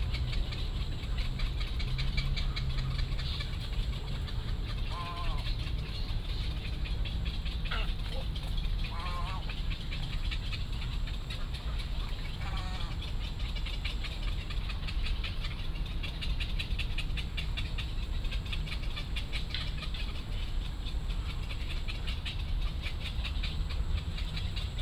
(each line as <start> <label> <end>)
0.0 Bird calls 24.8